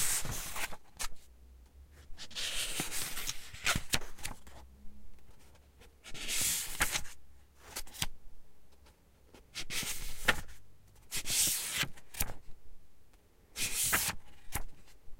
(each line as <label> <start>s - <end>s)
Flipping through pages 0.0s - 1.2s
Flipping through pages 2.2s - 4.6s
Flipping through pages 5.2s - 8.1s
Flipping through pages 8.8s - 12.4s
Flipping through pages 13.6s - 15.0s